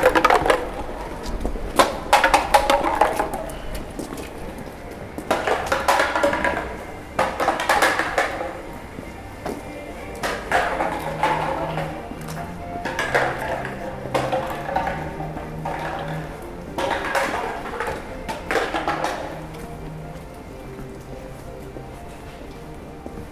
music 0:00.0 - 0:23.3

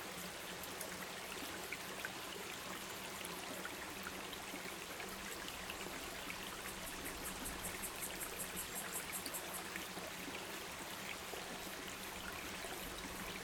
Creek 0:00.0 - 0:13.4

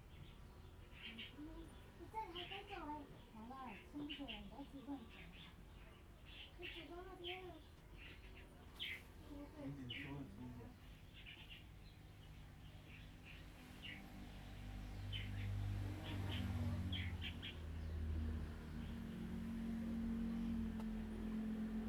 Birds singing 0:00.0 - 0:21.8
Traffic Sound 0:12.2 - 0:21.8

